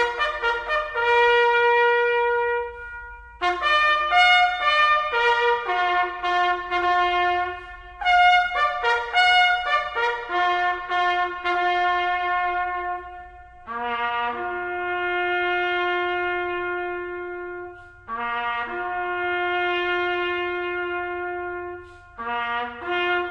bugler rehearsing the Last Post 0:00.0 - 0:23.3

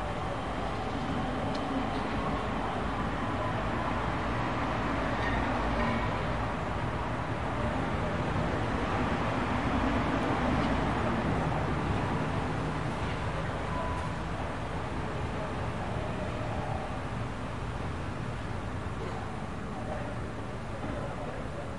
voices 0:19.0 - 0:21.7

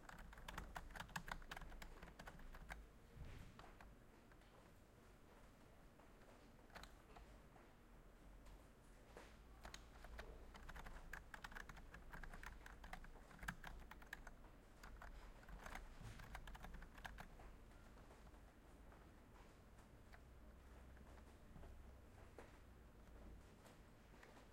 Typing 0:00.0 - 0:02.8
Typing 0:09.6 - 0:17.4

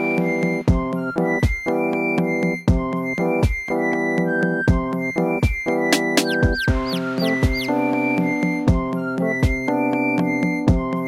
flute 0:00.0 - 0:11.0
piano 0:00.0 - 0:11.0
chirping birds 0:06.0 - 0:08.6

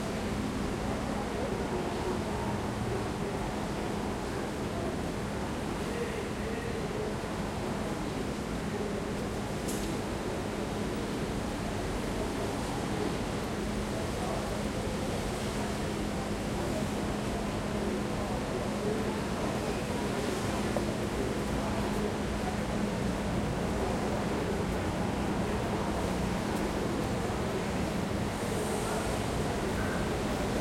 frequent trains passing by 0:12.4 - 0:30.6

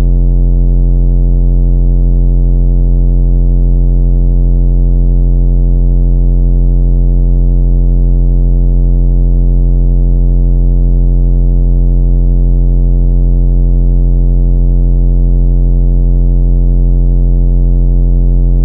bass 0:00.0 - 0:01.0
bass 0:18.3 - 0:18.6

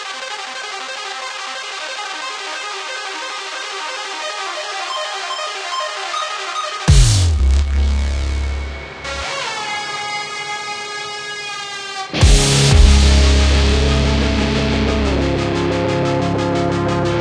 synth 0:02.5 - 0:10.4
arpeggio 0:04.2 - 0:10.3
brass stabs 0:06.9 - 0:10.1
brass stabs 0:12.1 - 0:15.5

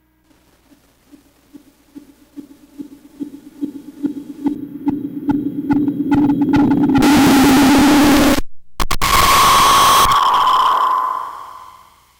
Static Build 0:00.3 - 0:12.0
Scream 0:07.0 - 0:12.1

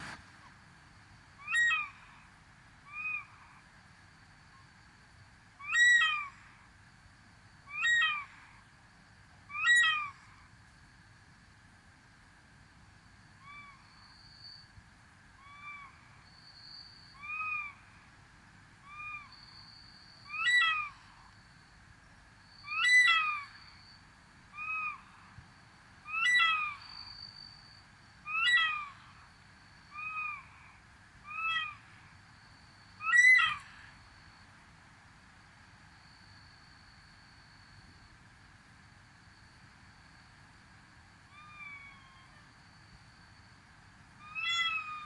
cicadas 0:00.0 - 0:45.0
crickets 0:00.0 - 0:45.0
plaintive calls from nesting birds 0:22.8 - 0:23.6
plaintive calls from nesting birds 0:26.1 - 0:26.8
plaintive calls from nesting birds 0:28.3 - 0:29.0
plaintive calls from nesting birds 0:31.3 - 0:31.9
plaintive calls from nesting birds 0:33.0 - 0:33.8
plaintive calls from nesting birds 0:44.3 - 0:45.0

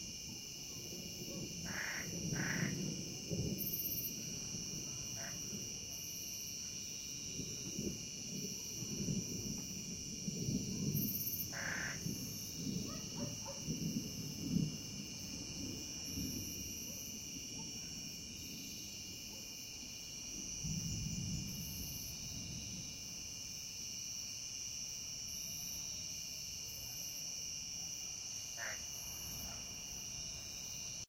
cicada 0:00.0 - 0:31.0
far thunder 0:00.1 - 0:23.5
Toad 0:01.6 - 0:02.8
Toad 0:05.2 - 0:05.4
Toad 0:11.5 - 0:12.0
dogs 0:12.8 - 0:13.7
Toad 0:28.6 - 0:29.6

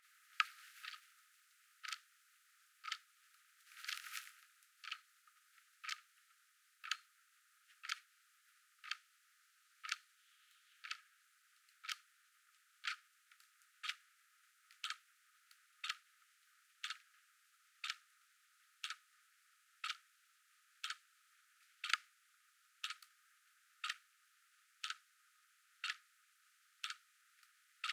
Ticking Clock 0:01.8 - 0:02.1
Ticking Clock 0:02.8 - 0:03.1
Ticking Clock 0:04.8 - 0:05.0
Ticking Clock 0:05.8 - 0:06.1
Ticking Clock 0:06.8 - 0:07.1
Ticking Clock 0:07.8 - 0:08.1
Ticking Clock 0:08.8 - 0:09.0
Ticking Clock 0:09.8 - 0:10.1
Ticking Clock 0:11.8 - 0:12.0
Ticking Clock 0:12.8 - 0:13.0
Ticking Clock 0:13.8 - 0:14.0
Ticking Clock 0:14.8 - 0:15.0
Ticking Clock 0:15.8 - 0:16.0
Ticking Clock 0:16.8 - 0:17.1
Ticking Clock 0:17.8 - 0:18.0
Ticking Clock 0:18.8 - 0:19.0
Ticking Clock 0:19.8 - 0:20.0
Ticking Clock 0:20.8 - 0:21.0
Ticking Clock 0:21.8 - 0:22.0
Ticking Clock 0:22.8 - 0:23.1
Ticking Clock 0:23.8 - 0:24.0
Ticking Clock 0:24.8 - 0:25.0
Ticking Clock 0:25.8 - 0:26.1
Ticking Clock 0:26.8 - 0:27.0

